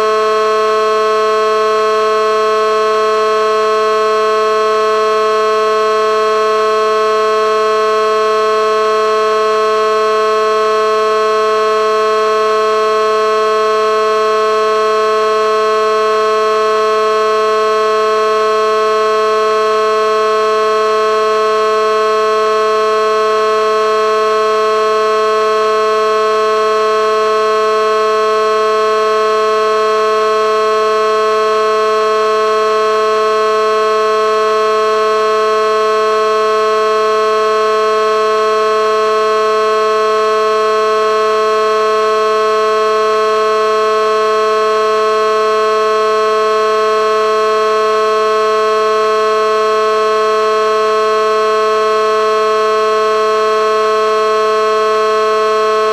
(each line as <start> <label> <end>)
0.0 Electronic air horn 55.9